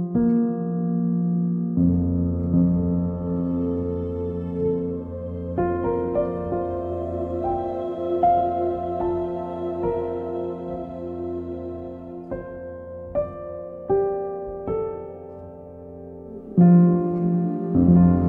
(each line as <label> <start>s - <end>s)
Piano 0.0s - 18.2s
choir 3.1s - 14.2s
choir 15.0s - 18.2s